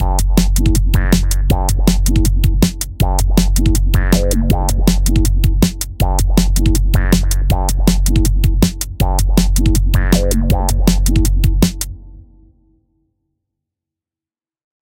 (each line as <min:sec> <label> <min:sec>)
0:00.0 beats 0:12.0
0:00.0 bassline 0:12.6